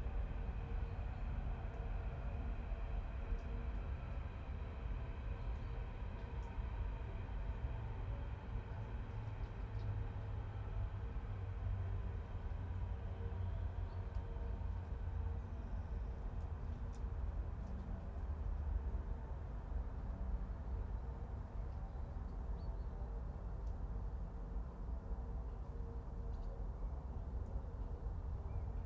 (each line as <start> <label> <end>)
0.0 fast train 16.4
0.1 Rain 19.8